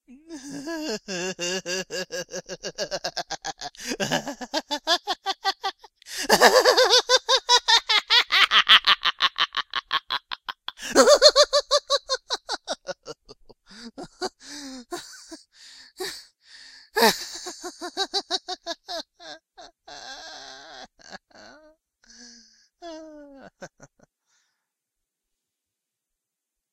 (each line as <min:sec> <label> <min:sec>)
0:00.3 Evil Laugh 0:15.4
0:17.0 Evil Laugh 0:21.4